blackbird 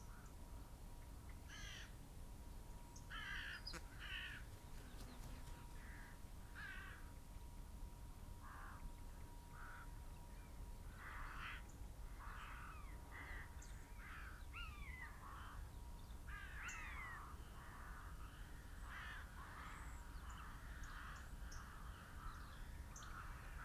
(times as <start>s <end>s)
3.2s 6.2s